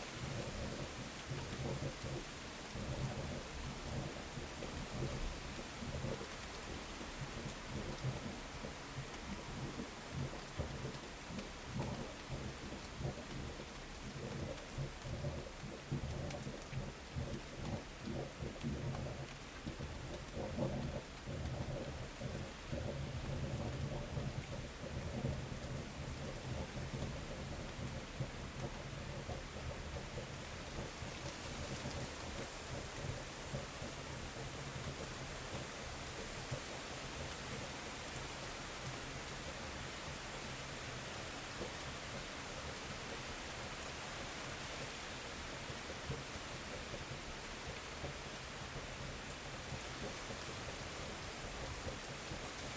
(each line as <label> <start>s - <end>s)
very hard rain 0.0s - 52.7s